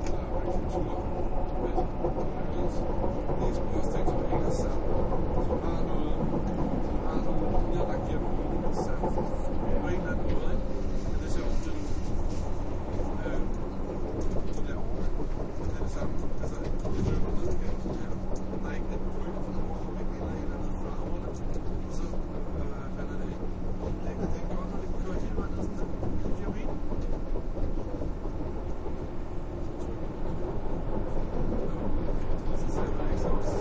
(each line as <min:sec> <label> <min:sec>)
0:00.0 people chatting 0:13.6
0:00.0 riding an ubahn train 0:33.6
0:00.0 traintrack sounds 0:33.6
0:14.2 people chatting 0:26.9
0:29.7 people chatting 0:33.6